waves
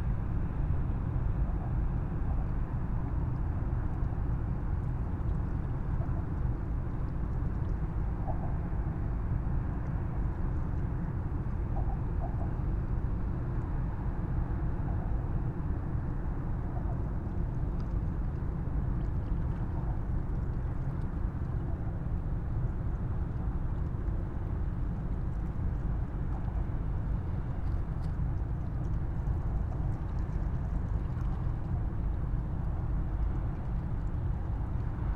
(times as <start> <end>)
16.1 35.1